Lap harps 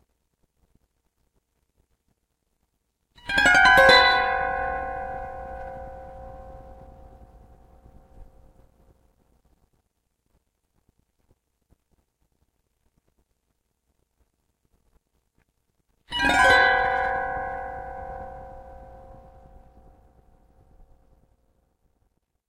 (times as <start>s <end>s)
16.1s 20.0s